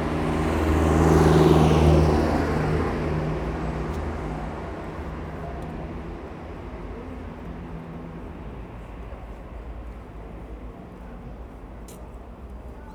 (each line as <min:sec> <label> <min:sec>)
0:00.0 Louder traffic 0:12.9